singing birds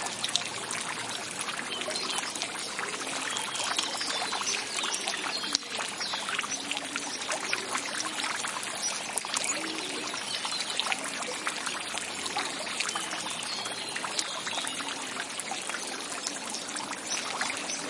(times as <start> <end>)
1.7 10.9